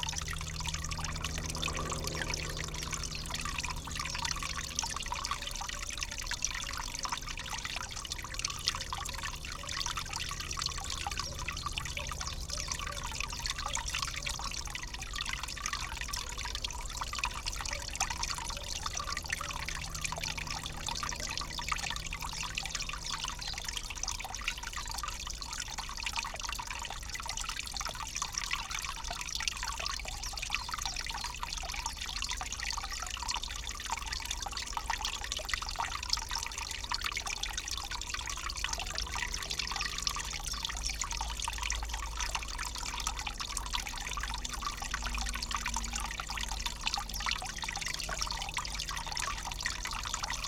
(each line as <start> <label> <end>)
0.0 low flying plane 5.0